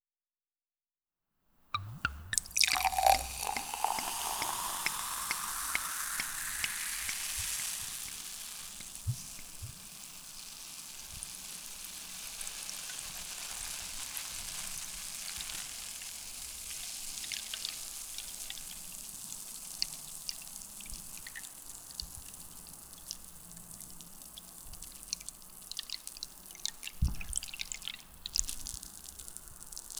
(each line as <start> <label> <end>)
1.8 Serving Champagne on Glass 7.4
1.8 Fizz 29.9